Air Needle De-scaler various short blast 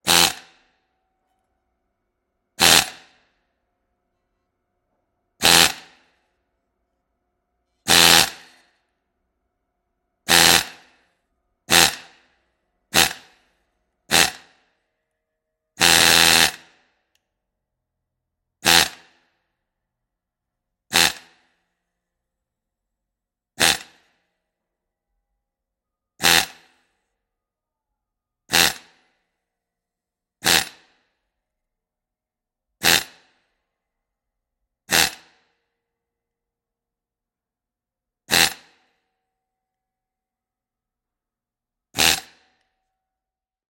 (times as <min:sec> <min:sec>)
0:00.0 0:00.5, 0:02.6 0:03.1, 0:05.4 0:06.0, 0:07.9 0:08.5, 0:10.3 0:10.8, 0:13.0 0:13.4, 0:14.1 0:14.5, 0:23.6 0:23.9